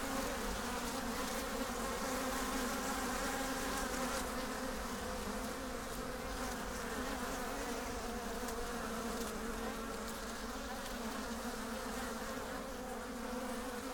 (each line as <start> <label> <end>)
0.0 Bees 13.9